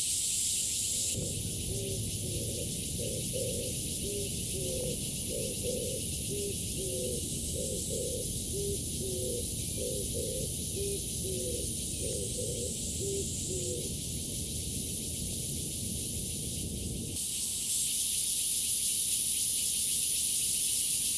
0.0s Cicadas chirping 21.1s
1.1s bird calls 14.0s

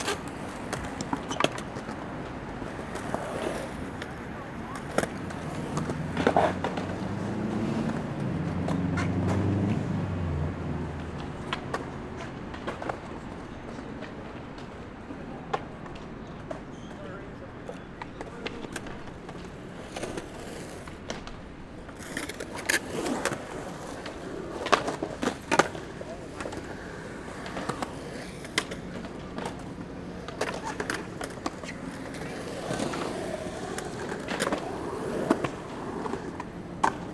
0.0s Skating Sounds 37.1s

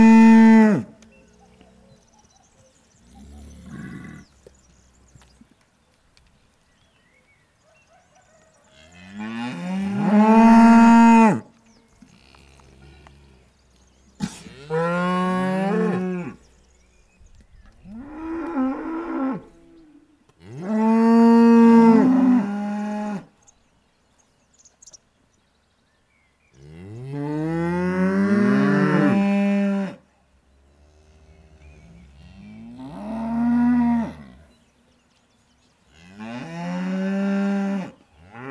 0.0s Hungry cows 16.8s

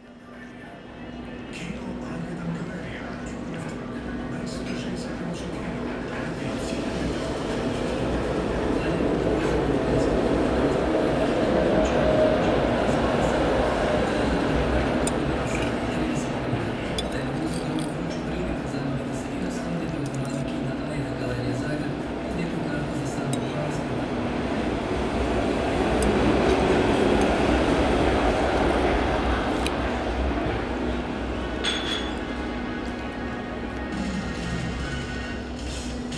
4.8s trams passing by 31.6s

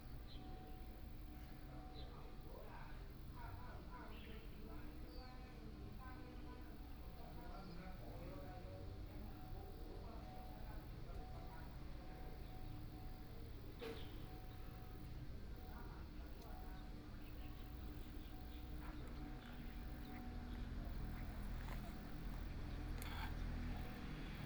0.2s Birdsong sound 0.7s
10.4s Traffic Sound 24.4s
13.8s Birdsong sound 14.9s
16.4s Birdsong sound 24.4s

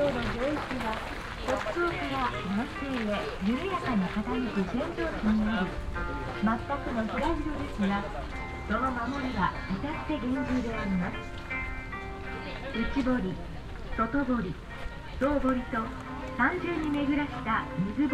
0.0s music for visitors 18.1s
0.0s steps on the stone park way 18.1s

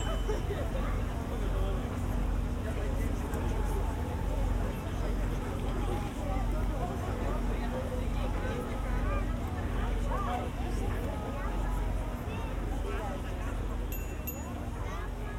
0.0s passengers ferry 15.3s

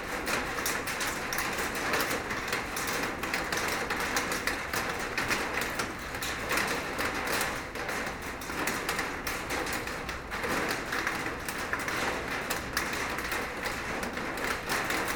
0.0s rain is falling on a huge metal plate 15.1s
0.0s Drops falling from the top of the silo 15.1s

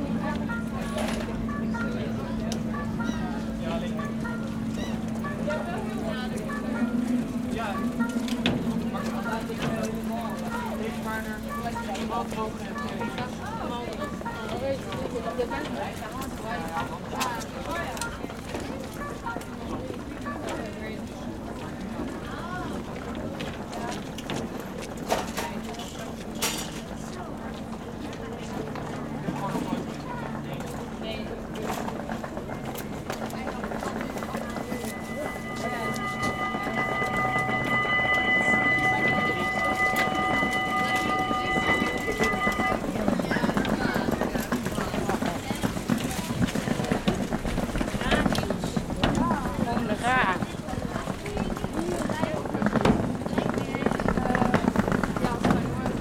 0.0s Bridge going up to let a ship pass through 56.0s
0.0s Pedestrians can pass 56.0s
27.2s ship is passing 47.8s

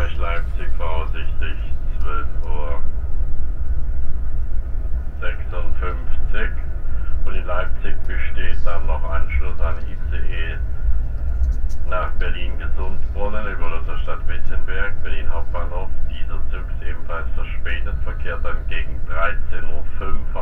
0.0s announcement 3.0s
0.0s train 20.4s
5.2s announcement 10.8s
11.8s announcement 20.4s

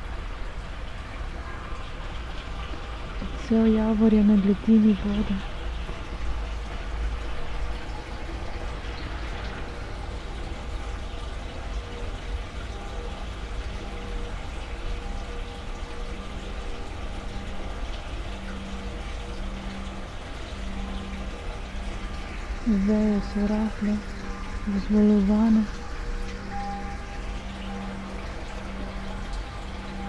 0.0s water flow 30.0s
2.6s bells 30.0s
3.2s spoken words 5.4s

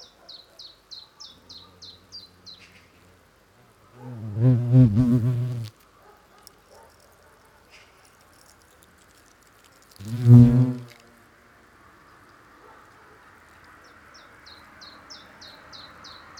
4.2s large wasps building a nest 11.2s

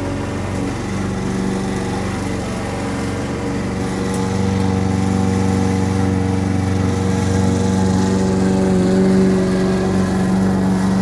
0.0s lawn-mower 11.0s

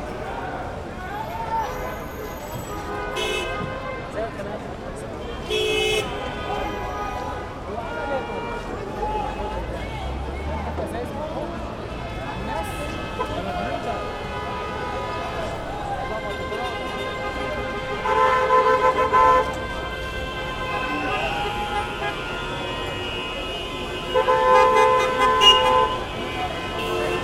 0.0s masssive traffic jam 27.2s

